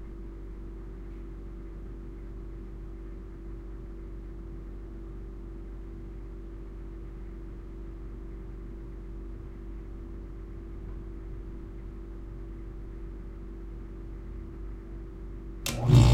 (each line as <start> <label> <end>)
0.0 low-level fridge 16.1
15.7 pulsating compressor click on with false starts 16.1